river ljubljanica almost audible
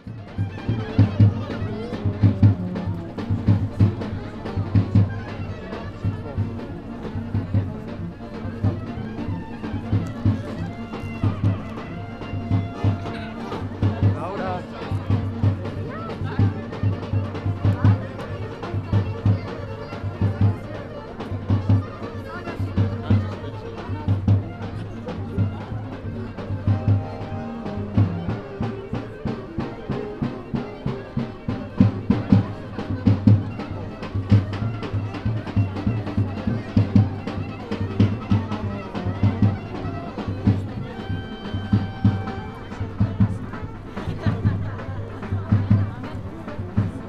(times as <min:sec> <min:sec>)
0:00.4 0:14.8